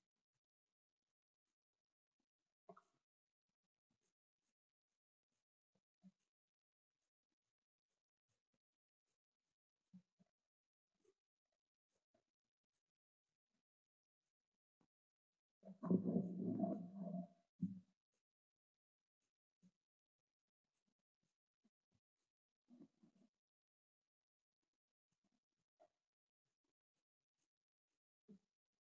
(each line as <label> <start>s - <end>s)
Underwater Sounds 15.6s - 17.7s